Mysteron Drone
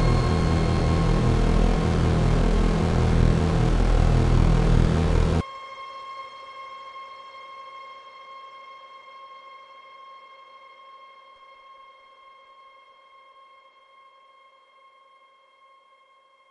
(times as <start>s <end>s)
0.0s 5.4s